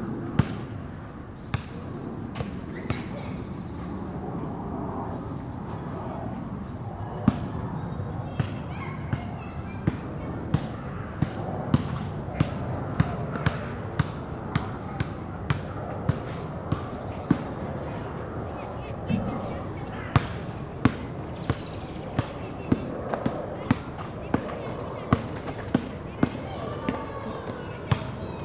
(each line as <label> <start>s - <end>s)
Two guys play basketball 0.4s - 0.7s
children playing 2.6s - 4.7s
children playing 5.8s - 28.4s
Two guys play basketball 8.3s - 28.4s
birds singing 15.0s - 15.5s
birds singing 18.5s - 24.4s